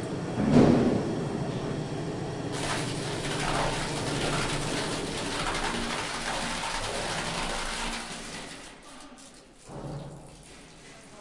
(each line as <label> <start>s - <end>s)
machine sound 0.4s - 8.6s